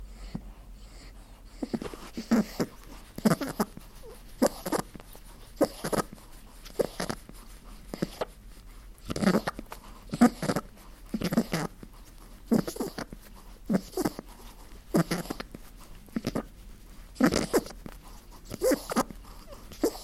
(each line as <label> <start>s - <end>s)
snuffles 0.0s - 20.0s
makes a purring sound 17.2s - 17.7s